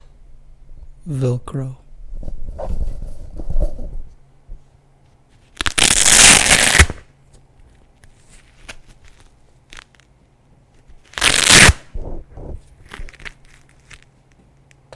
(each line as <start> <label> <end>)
5.5 Peeling velcro from my sandal 7.0
8.0 Peeling velcro from my sandal 10.1
10.8 Peeling velcro from my sandal 11.9
12.8 Peeling velcro from my sandal 14.2